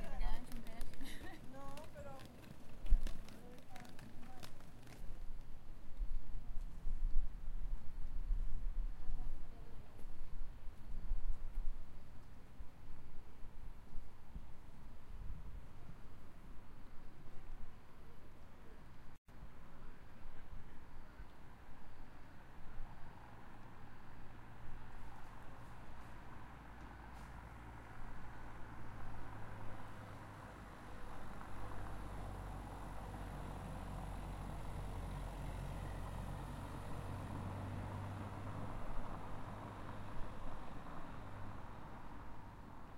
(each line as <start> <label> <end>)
0.0 runners 5.6
0.0 wind 42.9
22.4 cars 42.9